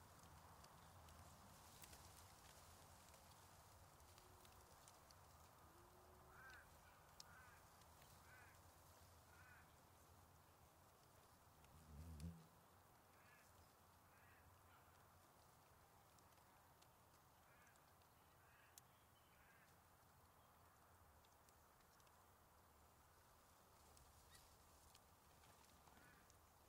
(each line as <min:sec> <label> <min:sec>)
0:00.0 Gentle Breeze in Reeds 0:26.6
0:00.1 birds 0:15.2